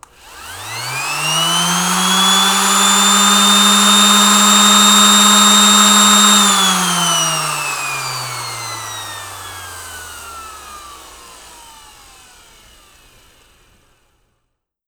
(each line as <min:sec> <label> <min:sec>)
0:00.0 sander turning on, running and turning off 0:14.3